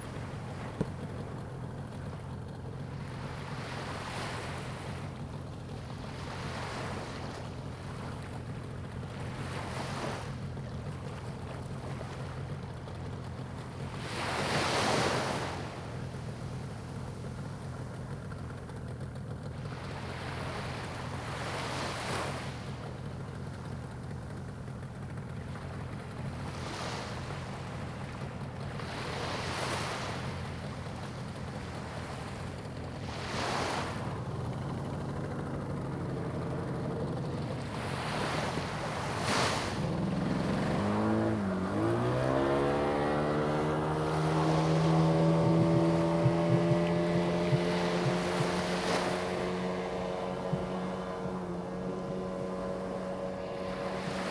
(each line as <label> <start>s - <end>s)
waves 0.0s - 54.3s